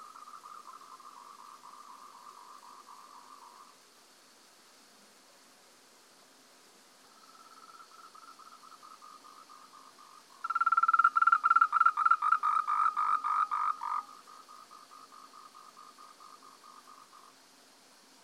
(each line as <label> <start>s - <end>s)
croak of an endemic tree frog 0.0s - 3.8s
croak of an endemic tree frog 7.0s - 17.5s